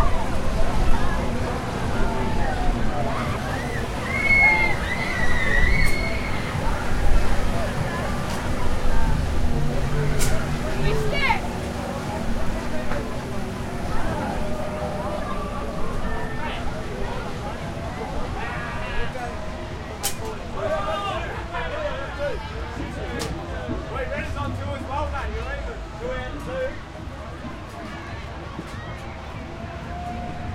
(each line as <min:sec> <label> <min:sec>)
0:00.0 crowd 0:30.5
0:03.2 screams 0:06.6
0:06.5 conversation 0:28.2